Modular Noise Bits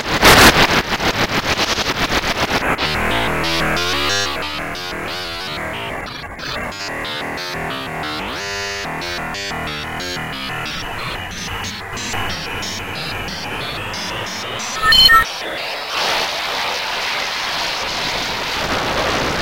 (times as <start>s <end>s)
14.8s 15.2s